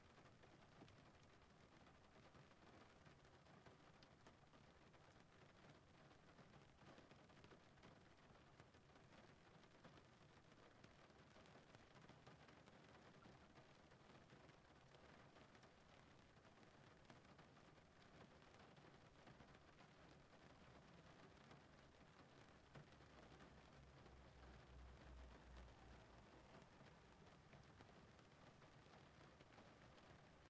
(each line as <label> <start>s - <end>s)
Gentle rain pouring on the windscreen of a car 0.0s - 30.4s